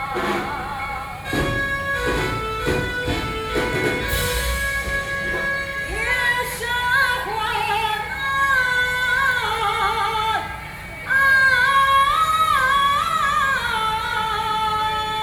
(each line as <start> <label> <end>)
0.0 Traditional theatrical performances 15.2